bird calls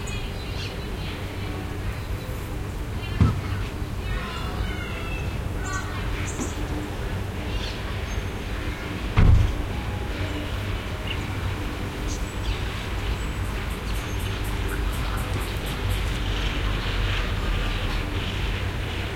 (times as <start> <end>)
0.0 9.0